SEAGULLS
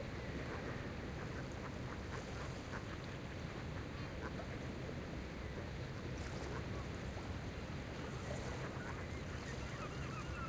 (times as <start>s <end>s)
8.0s 10.4s